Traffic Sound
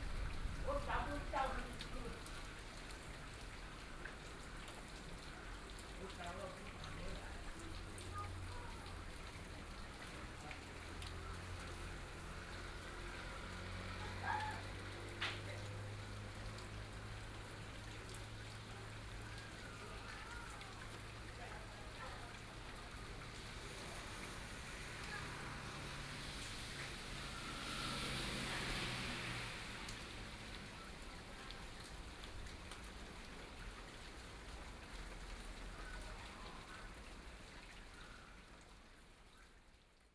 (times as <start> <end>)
7.2 21.3, 22.5 32.9